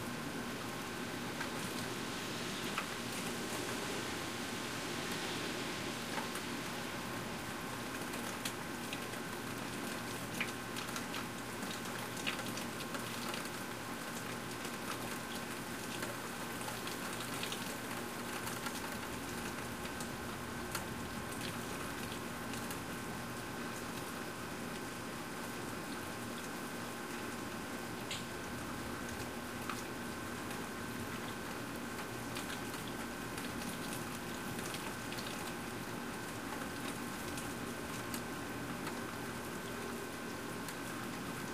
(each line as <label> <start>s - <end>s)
rain 0.0s - 41.5s